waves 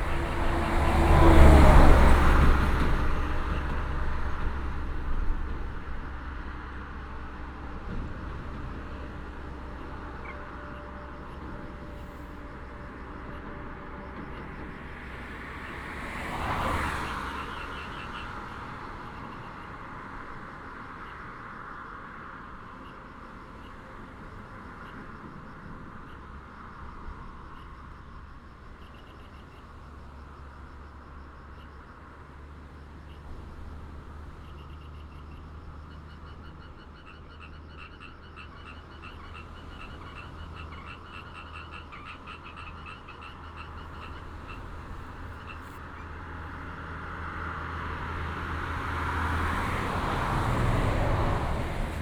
0.0 12.8, 33.0 46.7, 47.9 52.0

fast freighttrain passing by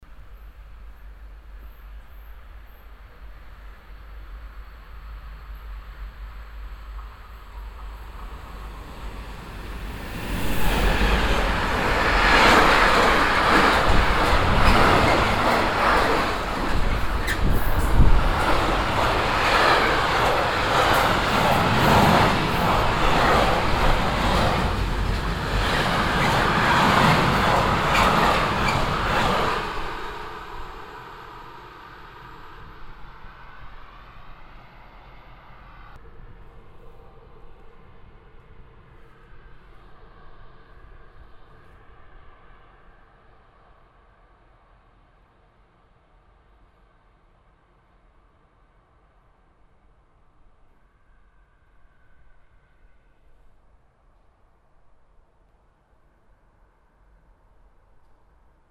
0.2 45.5

